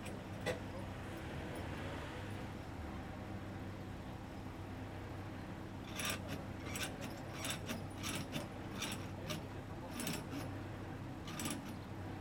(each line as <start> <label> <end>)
11.2 pulling tight the asphalt milling machine on a truck 11.8